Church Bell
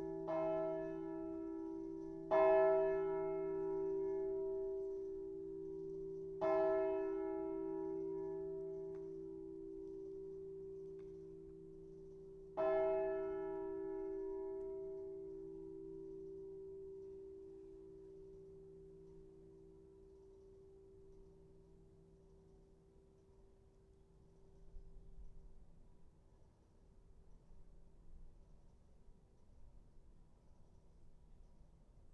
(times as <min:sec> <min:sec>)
0:00.0 0:24.8